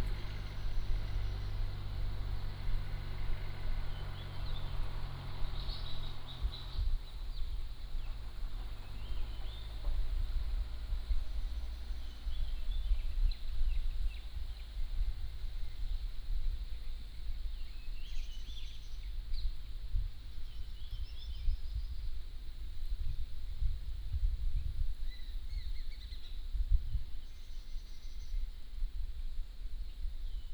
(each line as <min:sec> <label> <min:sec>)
0:00.0 Traffic Sound 0:13.5
0:00.0 Birds singing 0:16.1